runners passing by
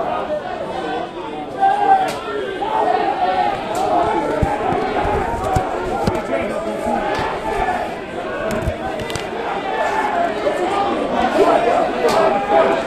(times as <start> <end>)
3.2 10.2